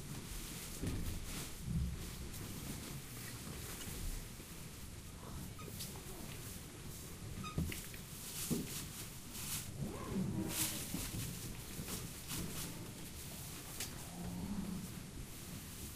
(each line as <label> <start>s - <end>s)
Peregrinos waking up and preparing silently 1.5s - 15.9s